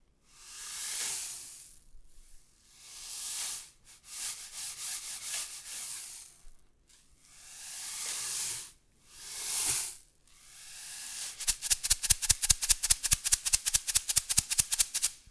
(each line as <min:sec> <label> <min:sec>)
0:11.4 rainstick 0:15.2